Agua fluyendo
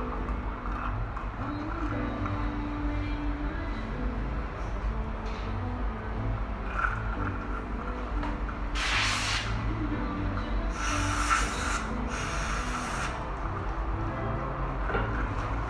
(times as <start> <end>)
8.8 9.7, 10.7 13.2